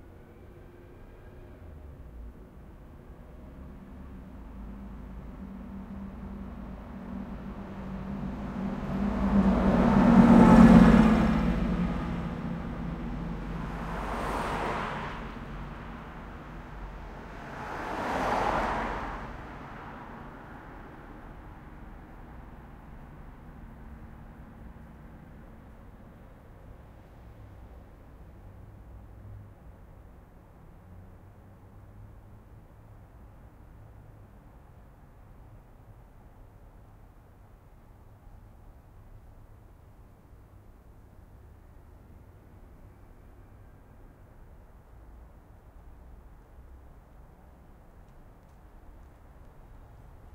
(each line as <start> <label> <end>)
0.0 car/truck/bus passes 50.3